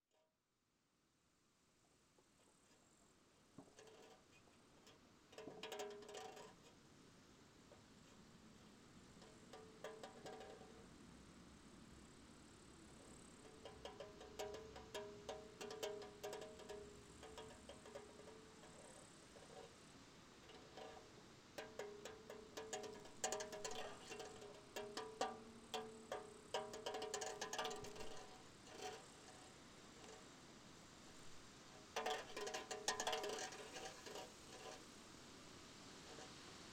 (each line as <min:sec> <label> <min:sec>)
0:08.0 empty beer can svaying in a strong wind 0:36.7